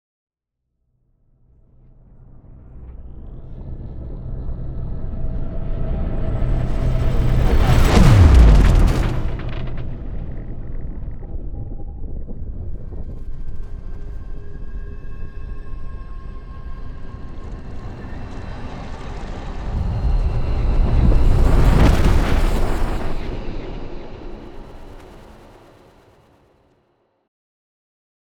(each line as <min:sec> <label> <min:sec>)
0:06.4 riser 0:11.7
0:06.4 whoosh 0:13.8
0:06.5 explosion 0:13.7
0:06.5 implosion 0:13.7
0:06.6 boom 0:13.4
0:16.9 whoosh 0:26.2
0:17.5 implosion 0:26.1
0:17.5 explosion 0:26.2
0:19.5 boom 0:23.4